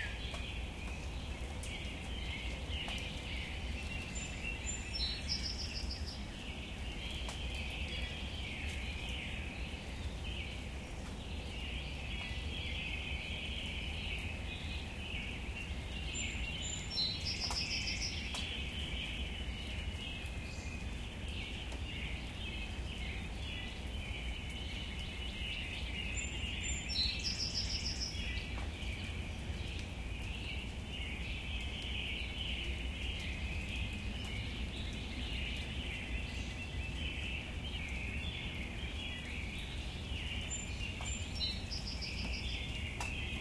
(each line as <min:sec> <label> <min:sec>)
0:00.0 light rain 0:43.4
0:00.0 song sparrow 0:43.4